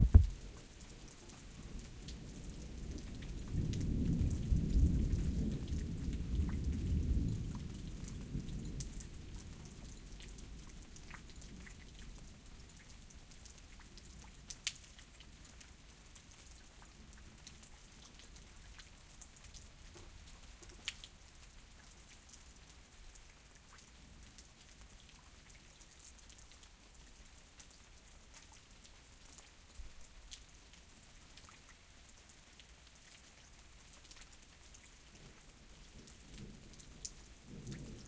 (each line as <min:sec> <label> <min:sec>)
0:00.0 rain 0:38.0